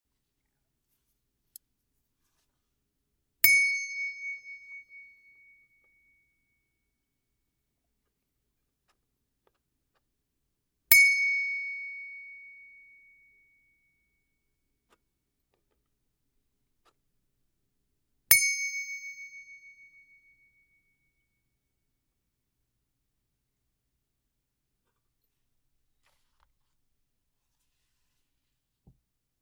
18.3s Small Japanese brass bell hit with metal object 19.8s

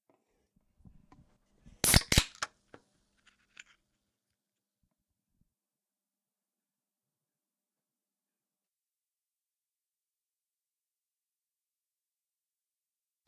1.8s Opening a soda can 2.5s

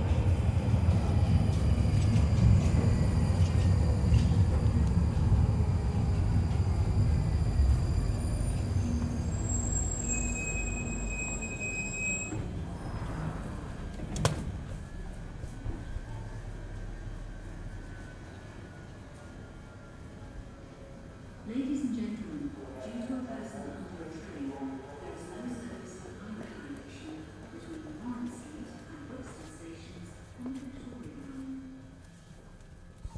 0.0s train 33.1s

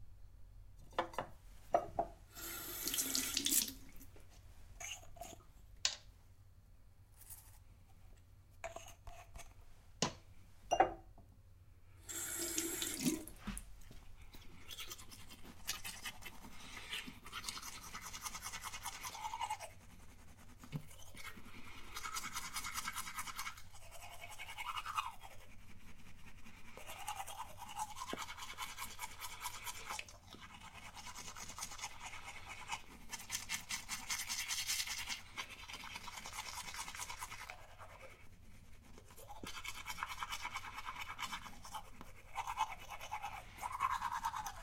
2.3s flushing the mouth 4.1s
2.3s brushing the teeth 5.6s
8.6s brushing the teeth 9.6s
12.0s flushing the mouth 13.6s
12.1s brushing the teeth 44.6s

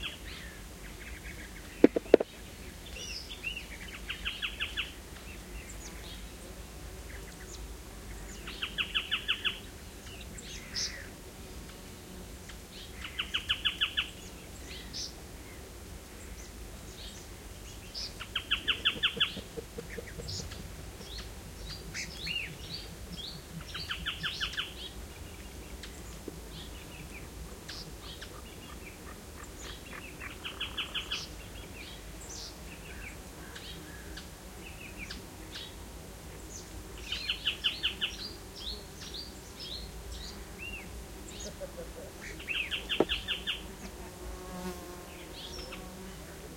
0.0s birds 46.5s
0.0s insects 46.5s
18.7s human laughter in the background 20.7s
41.3s human laughter in the background 42.2s

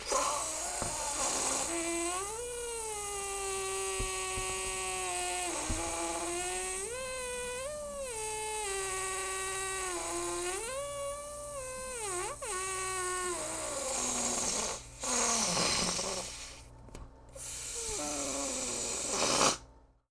0.0s rubber balloon deflating 16.7s
17.4s rubber balloon deflating 19.6s

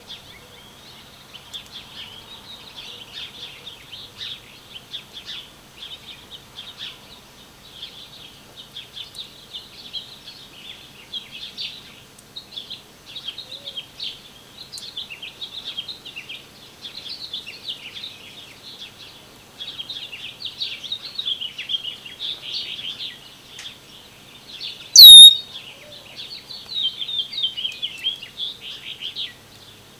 25.0s chirping 25.4s

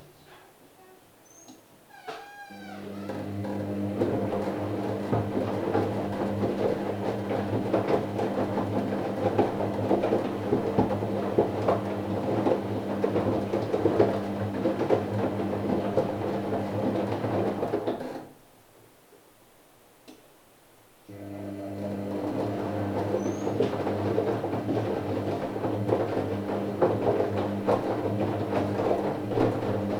2.5s working washing machine 18.4s
21.1s working washing machine 29.9s

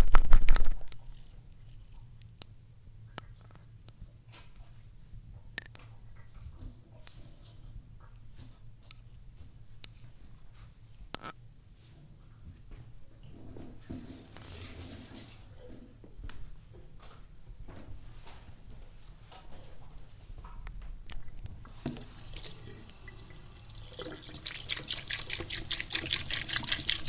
21.7s water dripping from the tap into the sink 27.0s

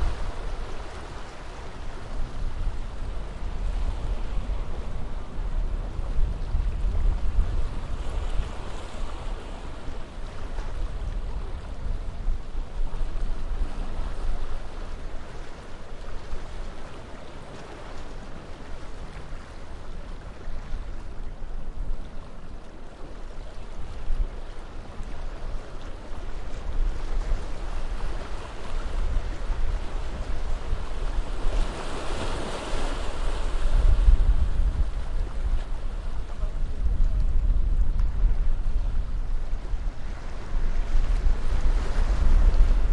0.0s sea 42.9s
0.0s wind 42.9s

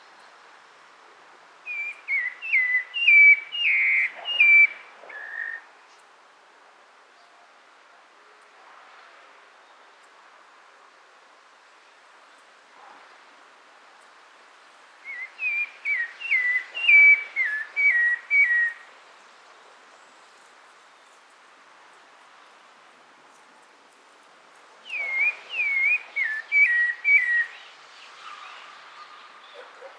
1.7s BIRD SINGS 5.6s
15.1s BIRD SINGS 18.8s
24.8s BIRD SINGS 29.9s

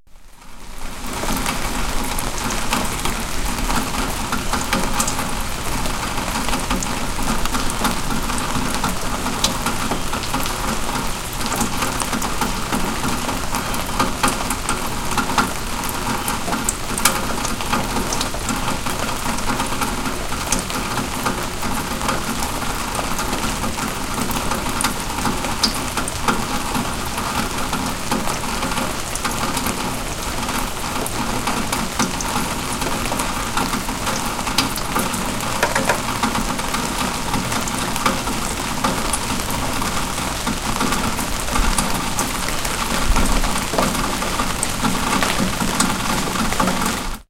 0.2s Rain falling through a tin gutter 47.2s

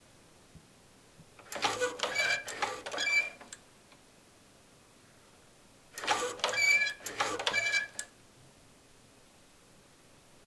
1.4s see saw moving 3.5s
6.0s see saw moving 8.0s

